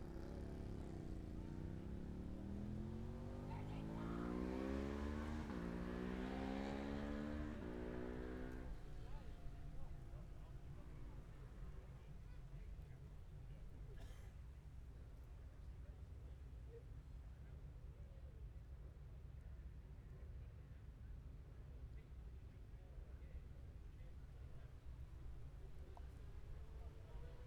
0.0s Motorcycle Road Racing 11.7s

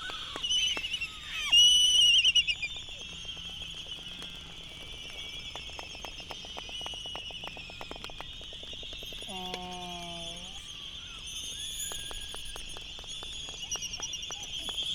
0.0s whinnying 2.6s

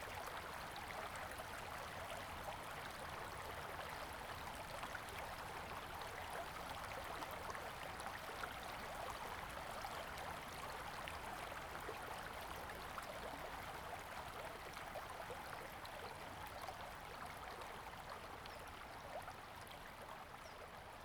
0.0s stream 21.0s

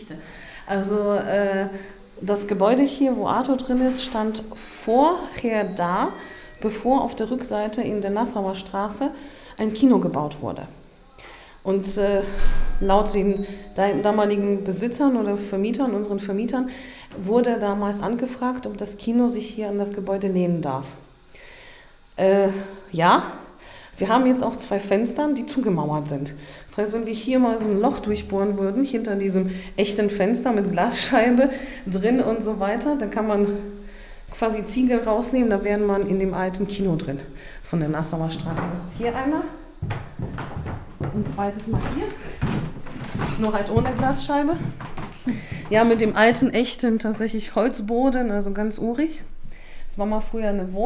37.8s guided tour 47.2s

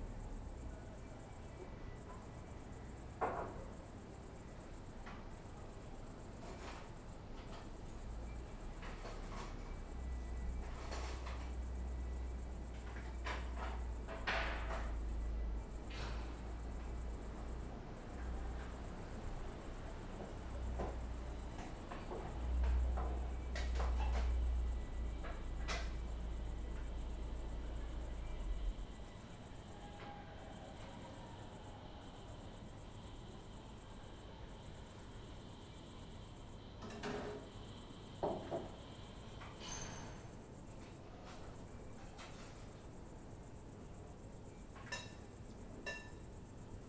0.0s lonely late summer cricket 46.8s

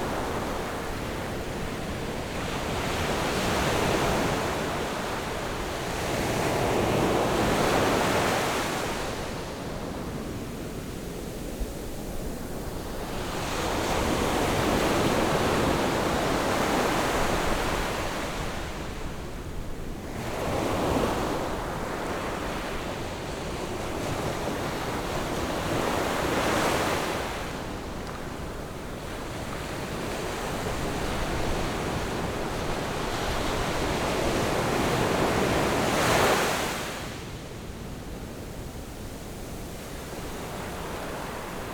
0.0s waves 41.7s

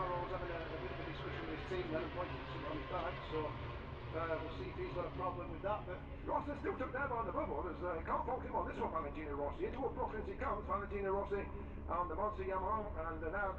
0.0s motor cycle grand prix 11.9s
0.0s commentary 13.5s

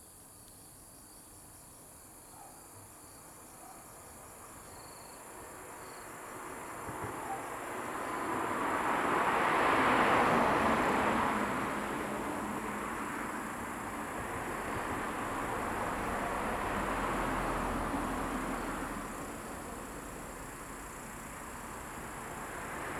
0.0s Sound of insects 22.9s
6.2s Traffic Sound 22.9s

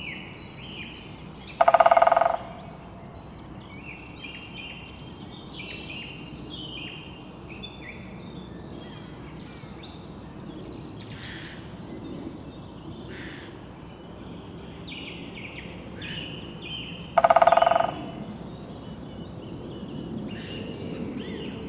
1.4s Greater Spotted Woodpecker drumming 5.0s
16.2s Greater Spotted Woodpecker drumming 18.5s
19.6s Jetplane 21.6s

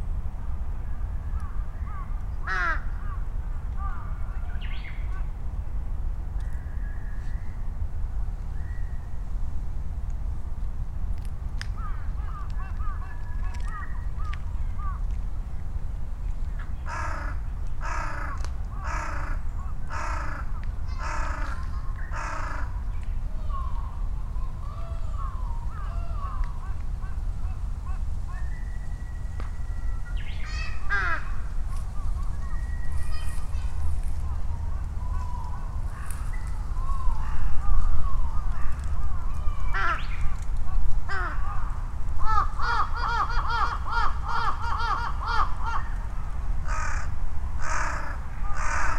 0.0s rumble of vehicles 48.9s
1.2s quiet Japanese bush warblers 5.4s
1.3s Noisy crows calling and responding 5.4s
11.6s Noisy crows calling and responding 15.2s
16.6s Noisy crows calling and responding 22.9s
23.6s Noisy crows calling and responding 32.2s
30.4s children playing 38.4s
32.9s Noisy crows calling and responding 48.9s

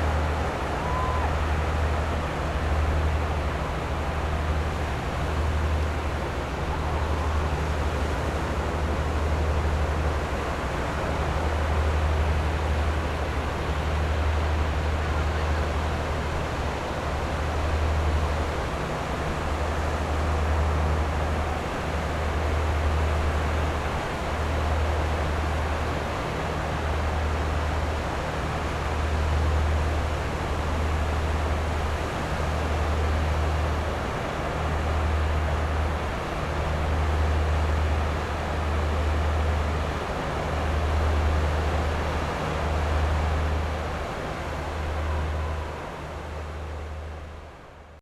0.0s boats on the distant sea 48.0s
0.0s waves 48.0s

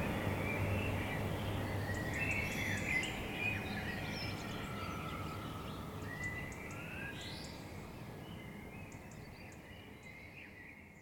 0.0s city noise 6.7s
0.0s metro 6.8s
0.0s bird song 11.0s

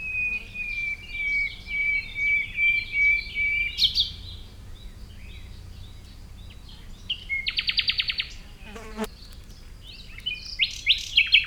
0.0s Birds 11.4s

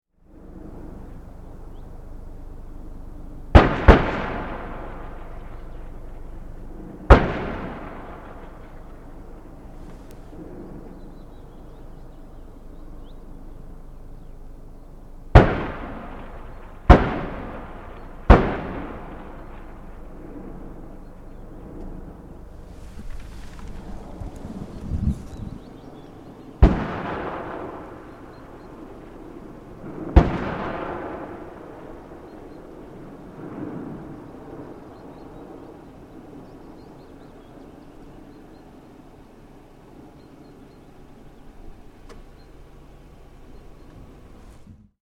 0.2s Mortar fire 45.0s

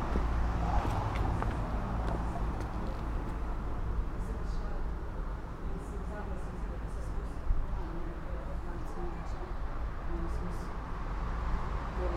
0.0s car traffic 12.1s
0.0s people passing by 12.1s
4.2s people talking 4.9s
5.6s people talking 10.7s
12.0s people talking 12.1s

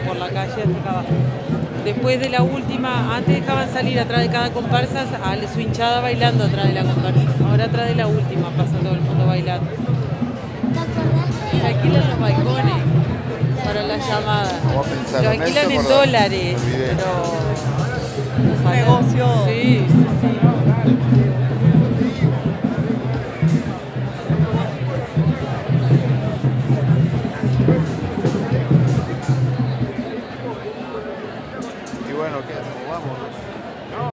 0.0s candombe musicos en la calle 34.1s

